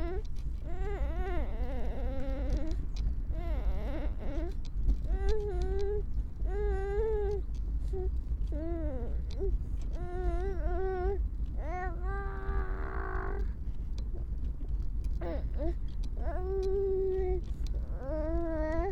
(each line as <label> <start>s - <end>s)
rumble of the pram 0.0s - 18.9s
little growls and utterances 6.5s - 13.5s